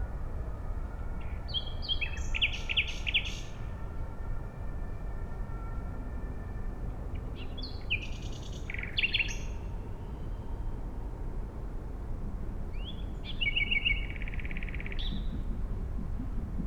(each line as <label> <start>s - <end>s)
trains 0.1s - 16.6s
nightingale 13.4s - 16.6s